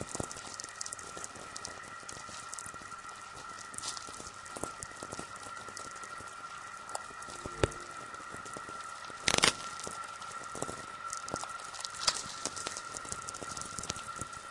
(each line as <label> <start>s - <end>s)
VLF noise 7.1s - 9.5s